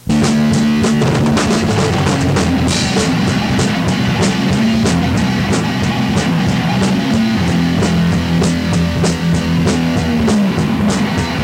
0.0s thrash band 11.4s

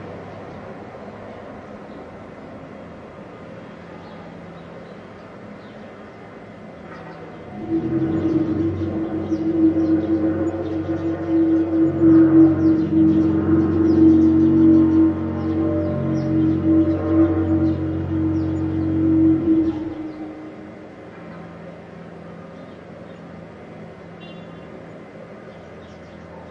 0.0s roadworks 26.5s
0.0s traffic 26.5s

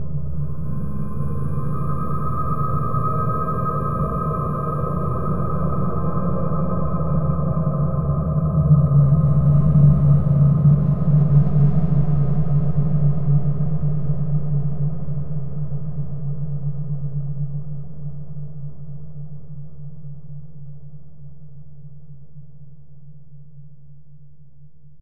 0.0s drone 14.8s

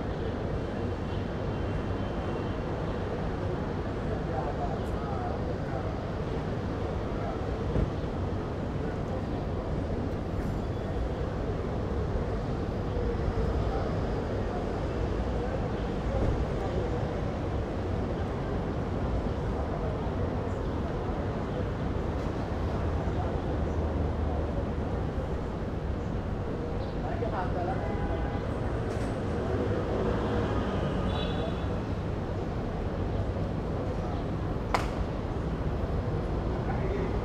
0.0s bus 37.2s
0.2s cars pass by 37.2s
2.9s people talking 7.8s
10.9s people talking 25.4s
26.4s people talking 31.8s
36.5s people talking 37.2s

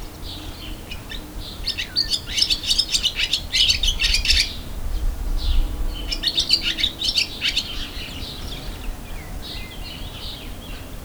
5.4s bird 10.9s

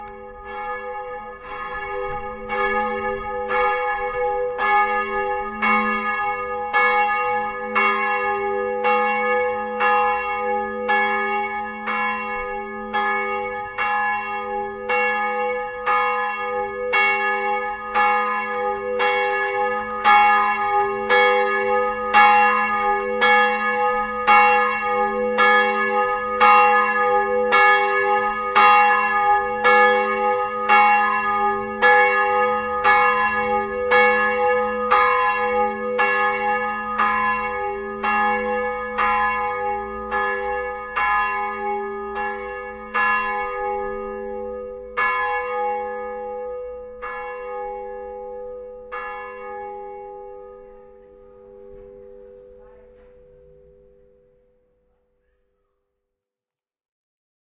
0.0s Churchbells 55.9s

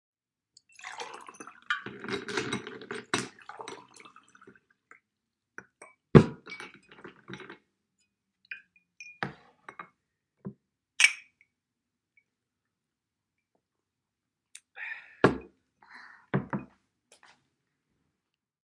0.6s poruing water 5.8s
0.8s putting ice 4.6s
6.2s putting ice 7.6s

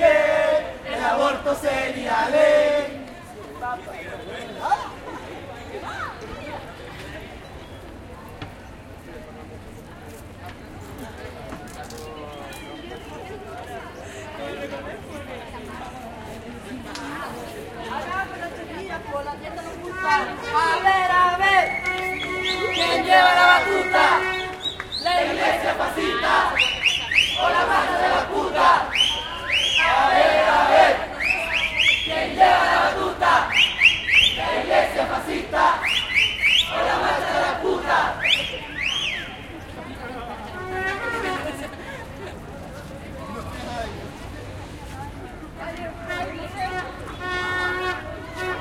0.0s crowd 48.6s
16.6s Trutruca 44.9s

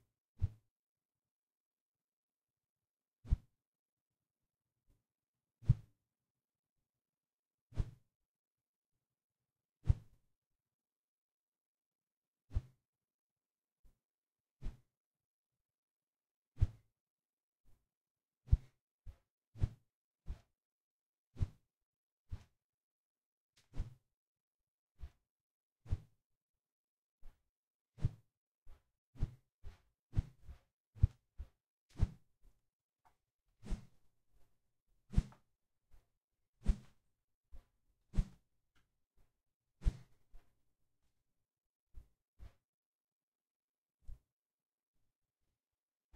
9.9s Broom Handle Swish 10.1s
14.6s Broom Handle Swish 14.8s
18.5s Broom Handle Swish 18.7s
19.6s Broom Handle Swish 20.4s
21.4s Broom Handle Swish 21.6s
23.6s Broom Handle Swish 24.0s
25.9s Broom Handle Swish 26.1s
28.0s Broom Handle Swish 28.2s
29.2s Broom Handle Swish 32.2s
33.6s Broom Handle Swish 34.0s
35.1s Broom Handle Swish 35.4s
36.6s Broom Handle Swish 37.0s
38.1s Broom Handle Swish 38.4s
39.8s Broom Handle Swish 40.2s

